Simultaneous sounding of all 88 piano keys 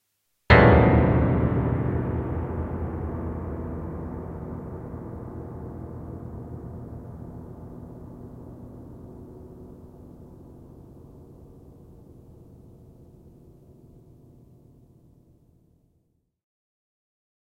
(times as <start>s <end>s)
0.5s 14.0s